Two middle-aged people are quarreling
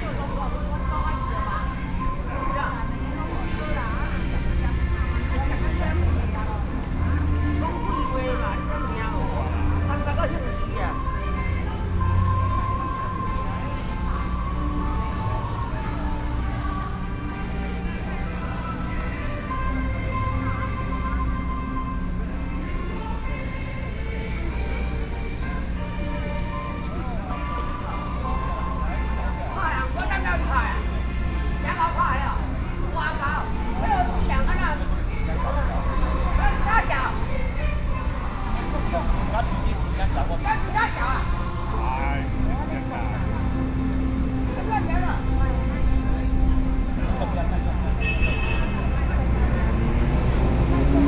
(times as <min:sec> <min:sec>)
0:38.7 0:42.3